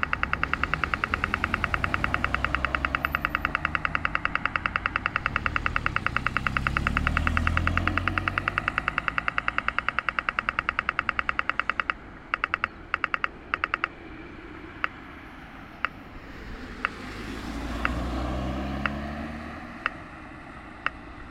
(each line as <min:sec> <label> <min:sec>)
0:00.0 dense traffic 0:21.3